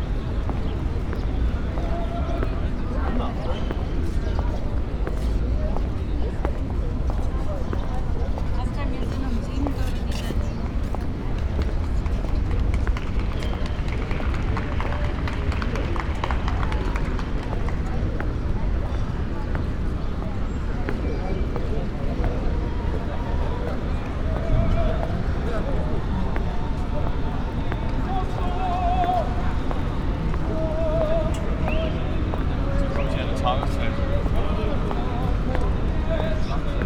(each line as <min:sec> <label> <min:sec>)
0:00.0 walking 0:36.8